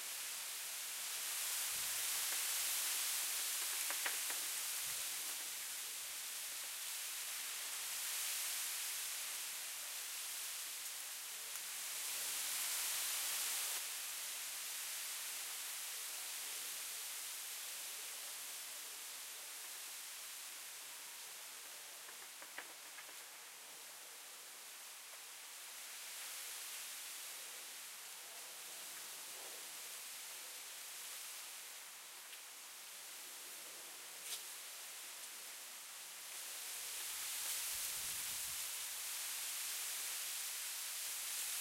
Wind Blowing Leaves in Tree 0.0 - 41.6

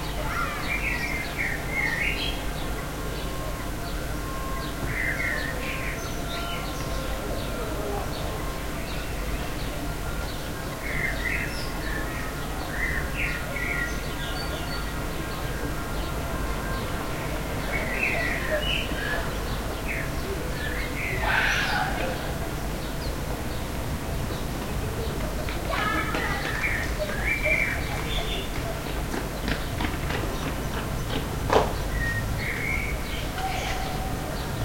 children keep playing 0.0 - 32.0
sparrows 0.0 - 34.6
street noise 0.0 - 34.6
ambulance 2.4 - 10.9
a crow 21.2 - 22.2

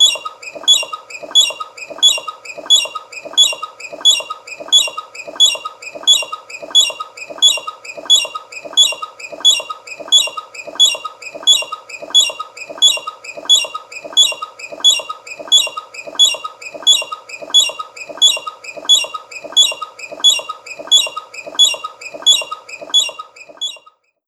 squeaky wheels turning 0.0 - 24.2

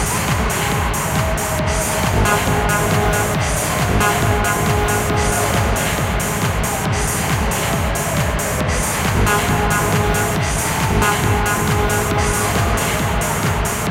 crowd 0.0 - 13.9
dance music 0.0 - 13.9

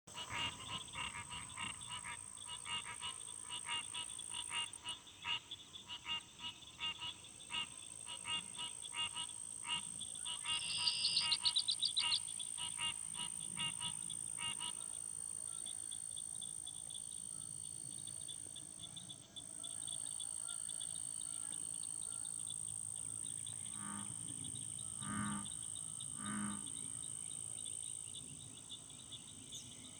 Canada goose 0.1 - 15.7
American Bullfrog 0.1 - 27.8
American Green Tree Frog 0.1 - 29.9
red-winged blackbird 9.7 - 12.9
northern mockingbird 10.3 - 12.8

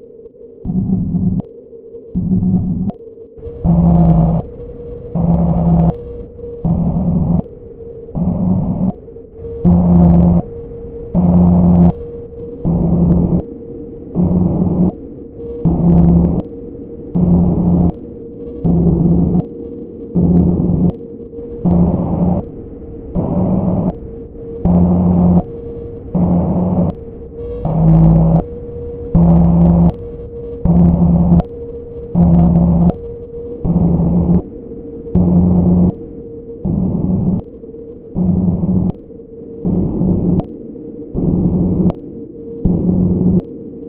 PULSATING RANDOM NOISE BURSTS with DELAY 0.0 - 43.8

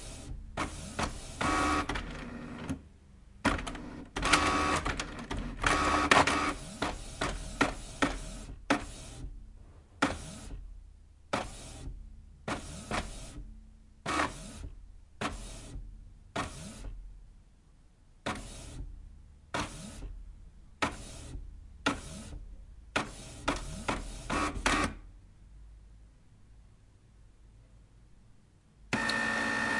printer doing it's thing 0.0 - 2.8
printer doing it's thing 3.4 - 9.4
printer doing it's thing 10.0 - 10.6
printer doing it's thing 11.3 - 17.0
printer doing it's thing 18.2 - 20.2
printer doing it's thing 20.8 - 25.1
printer doing it's thing 28.9 - 29.7

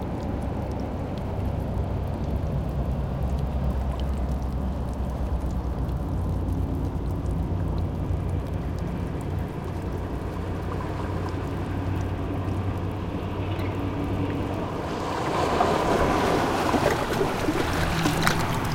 Waves 0.0 - 18.7
tide pool 0.0 - 18.7
barnacles 0.1 - 18.7

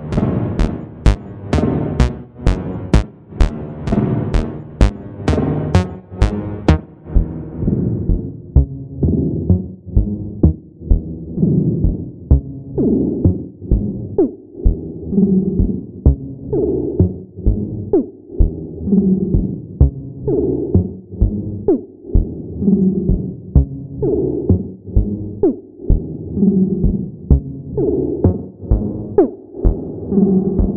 synthesizer 0.0 - 11.3
synthesizer 23.6 - 30.7

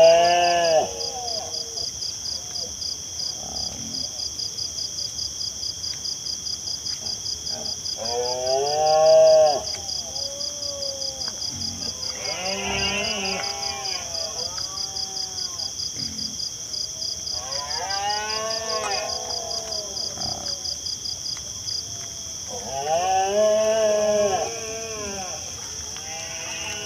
Wild pigs rooting around and squealing 0.0 - 4.2
crickets sing 0.0 - 26.8
Wild pigs rooting around and squealing 6.8 - 16.6
Wild pigs rooting around and squealing 17.3 - 26.8
male Red-deers roar 17.4 - 20.7
male Red-deers roar 22.5 - 26.8

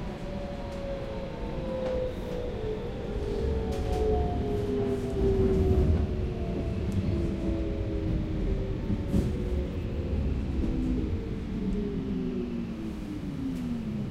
metro starts to run 0.0 - 14.1
train leaving and receding 0.0 - 14.1

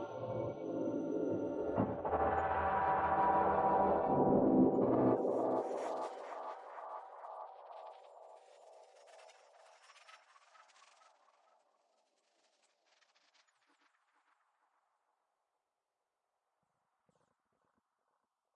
drone 0.0 - 6.0

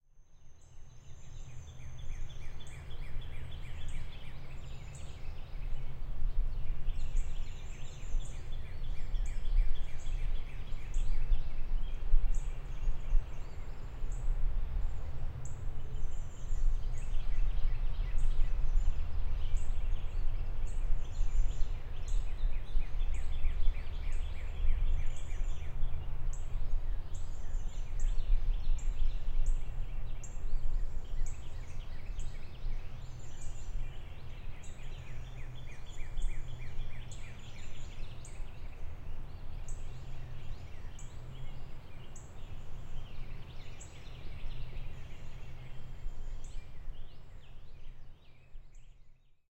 wind 0.0 - 49.4
birds 0.4 - 49.4

